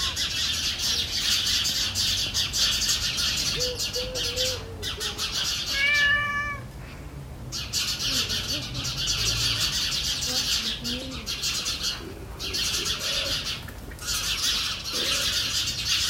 cat 0:00.0 - 0:00.4
cat 0:03.6 - 0:07.0

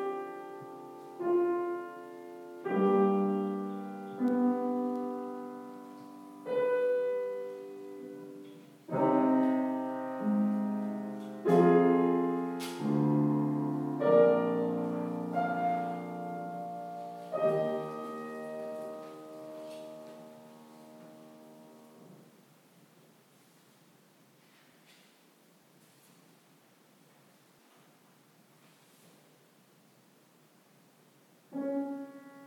Piano playing 0:00.0 - 0:22.3
people inside the church 0:00.0 - 0:32.4
Piano playing 0:31.5 - 0:32.4

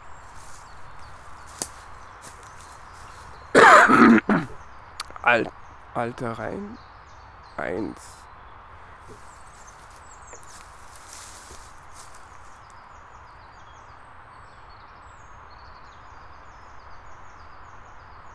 children playing in the woods 0:00.0 - 0:06.8
hikers went by 0:00.0 - 0:06.8
birds 0:00.0 - 0:18.3
hikers went by 0:07.5 - 0:13.3
children playing in the woods 0:08.9 - 0:12.7

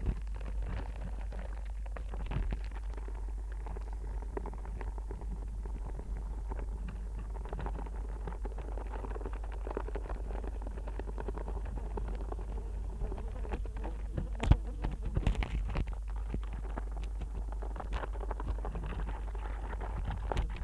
wasps 0:00.0 - 0:20.6
flies 0:11.5 - 0:15.8

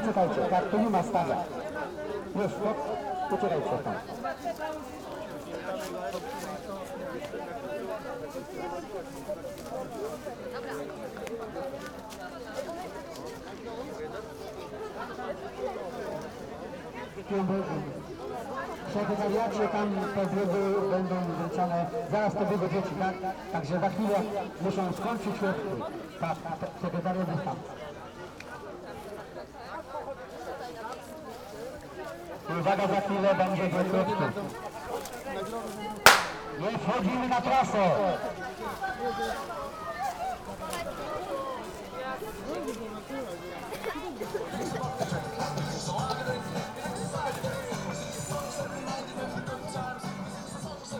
supporters and parents cheering the runners 0:36.1 - 0:37.0

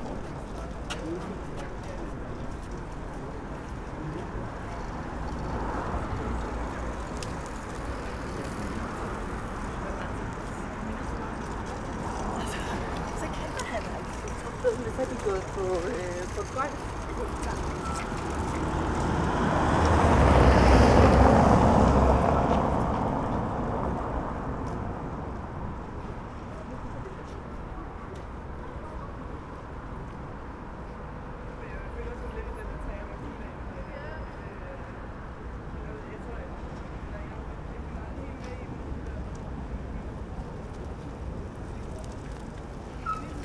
Cyclists 0:00.0 - 0:43.4
pedestrians 0:00.0 - 0:43.4
voice of a guide from tourist boat 0:00.0 - 0:18.7
cars passing in front of recorder 0:04.6 - 0:25.2
voice of a guide from tourist boat 0:31.3 - 0:43.4

